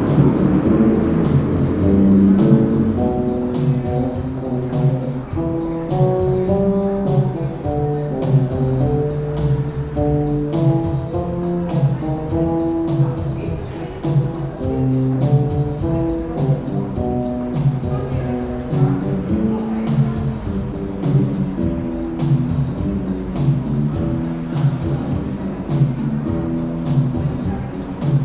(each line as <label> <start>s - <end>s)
drum machine 0.0s - 28.2s
playing songs from Soviet films on his bass 0.0s - 28.2s